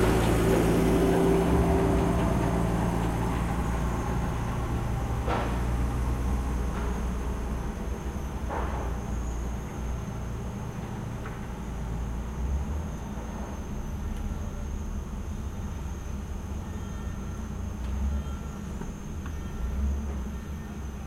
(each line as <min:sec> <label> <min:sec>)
0:00.0 rain 0:07.9
0:00.0 forklift 0:21.0